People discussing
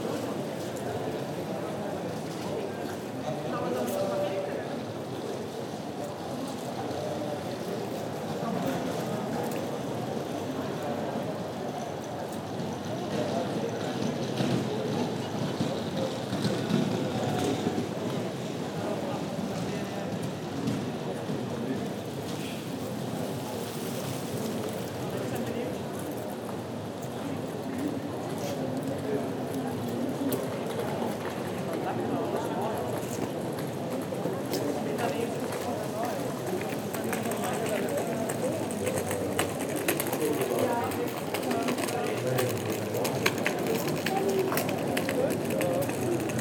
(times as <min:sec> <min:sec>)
0:34.4 0:46.4